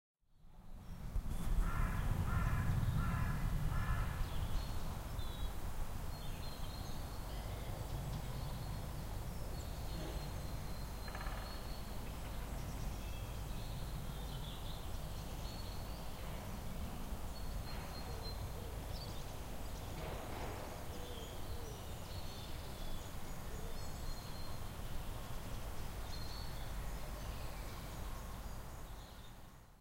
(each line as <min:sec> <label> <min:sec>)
0:00.6 bird song 0:29.8
0:01.6 Great Spotted Woodpecker hammering in the distance 0:04.2
0:09.9 Great Spotted Woodpecker hammering in the distance 0:12.5
0:17.6 Great Spotted Woodpecker hammering in the distance 0:21.8